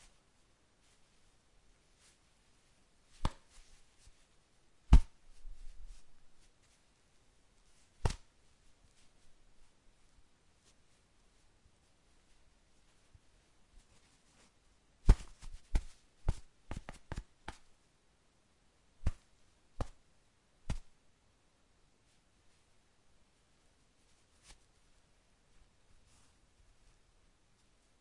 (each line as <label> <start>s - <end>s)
percussive impacts and hits 3.2s - 3.6s
percussive impacts and hits 4.9s - 5.2s
percussive impacts and hits 8.0s - 8.2s
percussive impacts and hits 15.1s - 17.6s